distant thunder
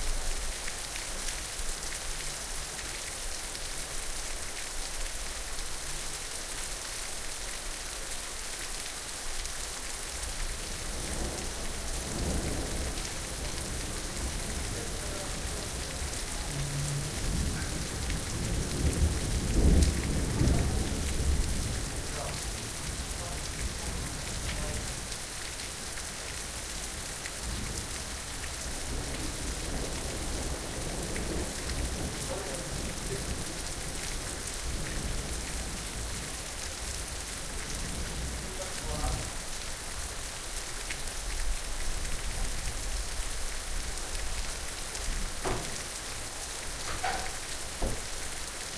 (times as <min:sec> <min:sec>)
0:13.6 0:22.0